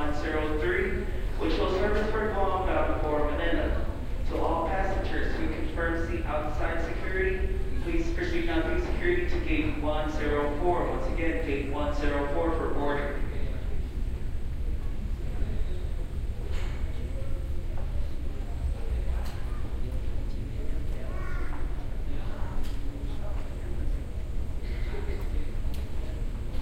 announcement 0:00.0 - 0:13.7

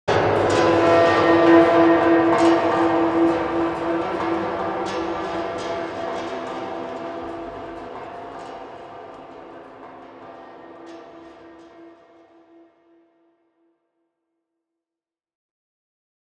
cinematic sting 0:00.1 - 0:10.9

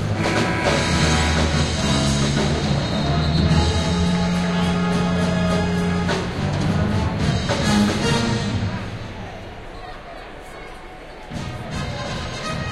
bad plays Herbie Hancock 0:00.0 - 0:08.8
Student basketball games 0:00.0 - 0:12.7

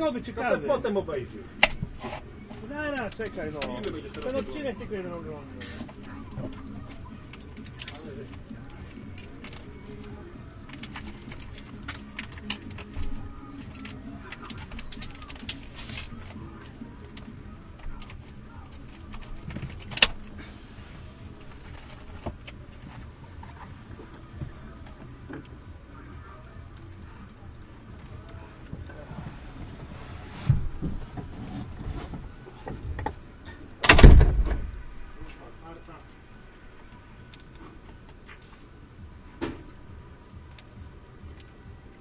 music 0:00.0 - 0:42.0
movie watching on computer 0:03.8 - 0:22.6

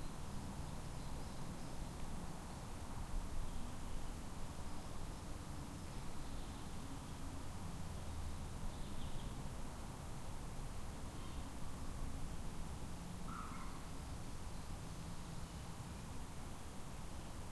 hiss of breeze in the trees 0:00.0 - 0:17.5
thin call of the long tailed tit 0:13.2 - 0:15.8

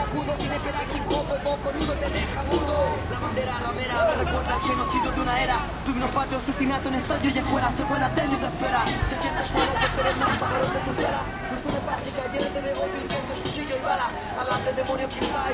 Conversaciones de la gente 0:00.0 - 0:15.5
rap subversivo 0:00.0 - 0:15.5

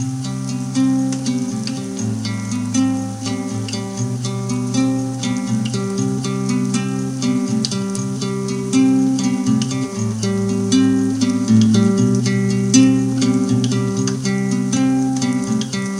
acoustic guitar 0:00.0 - 0:15.9
bass 0:00.0 - 0:15.9

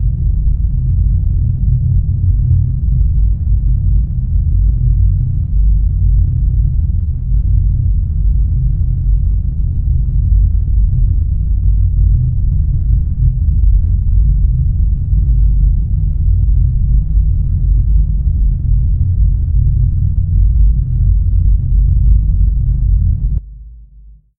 Epic Rumble 0:00.0 - 0:23.4

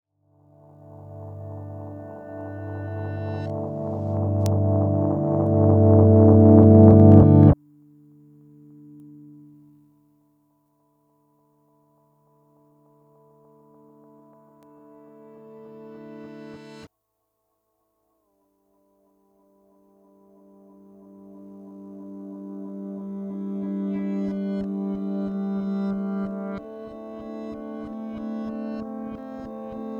drone 0:01.1 - 0:07.6
drone 0:21.9 - 0:29.9

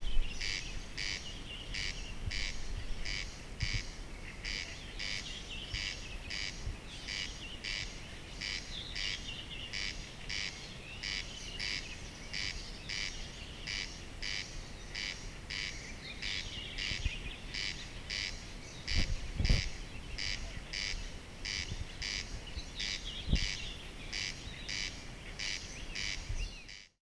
other night birds 0:00.0 - 0:27.0

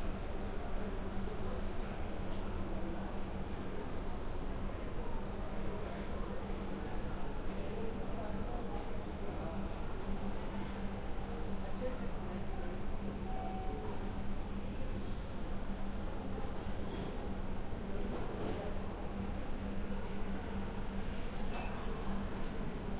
crowd 0:00.0 - 0:22.9

